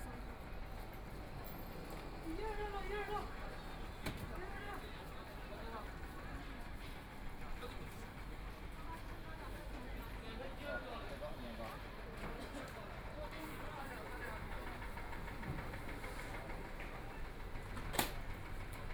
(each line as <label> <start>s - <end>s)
street under construction 0.0s - 18.9s